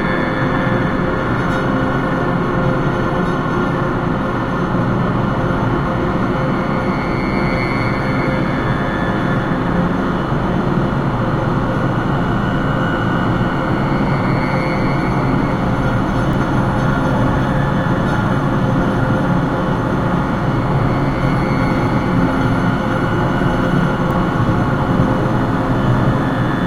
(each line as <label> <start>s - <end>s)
Drones 0.0s - 26.6s
Train 0.0s - 26.6s